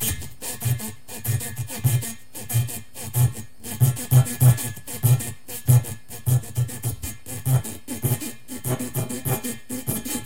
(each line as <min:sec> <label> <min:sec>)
0:00.0 rubber 0:10.2